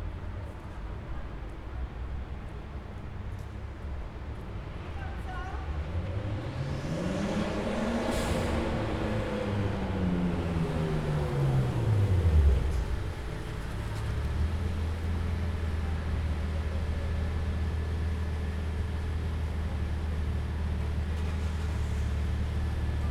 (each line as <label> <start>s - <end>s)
construction 5.2s - 23.1s